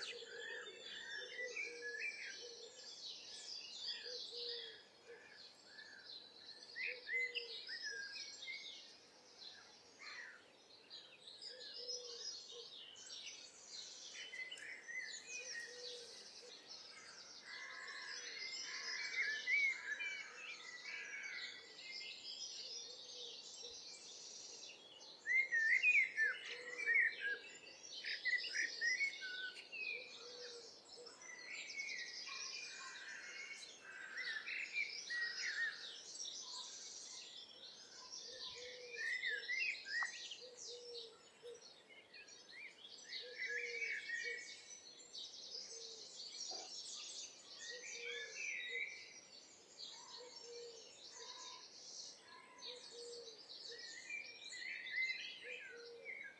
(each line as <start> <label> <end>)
0.0 collared dove 2.8
0.0 pheasant 2.8
0.0 blackbird 56.3
0.0 wind 56.3
3.9 pheasant 6.0
4.0 collared dove 5.3
6.7 pheasant 8.1
11.2 robin 56.3
11.5 collared dove 12.8
13.9 pheasant 21.8
15.4 collared dove 16.6
25.2 pheasant 37.2
28.2 collared dove 31.5
37.8 pheasant 41.7
38.0 collared dove 41.6
45.7 pheasant 49.0
47.7 collared dove 48.8
49.9 collared dove 51.6
49.9 pheasant 56.3
52.2 collared dove 54.0
55.4 collared dove 56.3